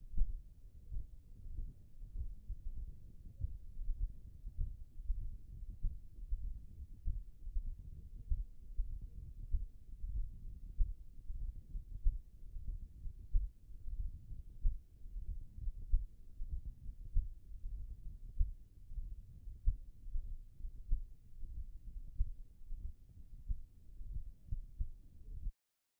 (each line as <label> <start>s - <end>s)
irregular heart beat 0.0s - 25.5s